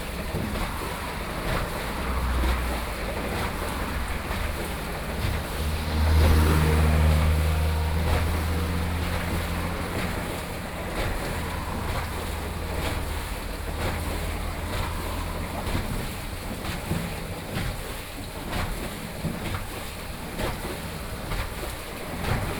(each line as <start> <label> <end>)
0.0 Traffic Sound 22.5
0.0 Waterwheel 22.5